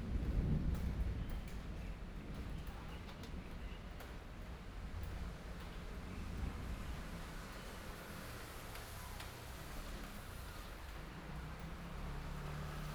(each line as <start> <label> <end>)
0.0 Thunderstorm 7.3